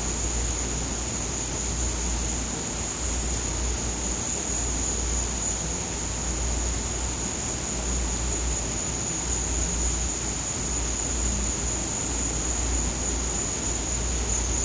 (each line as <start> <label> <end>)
0.0 crickets 14.6
0.0 wind blowing through the jungle 14.6